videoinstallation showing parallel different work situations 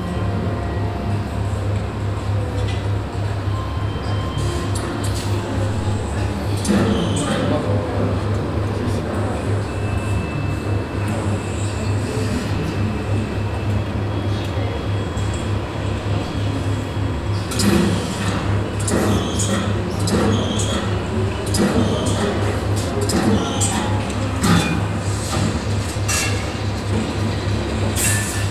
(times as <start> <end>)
14.9 28.5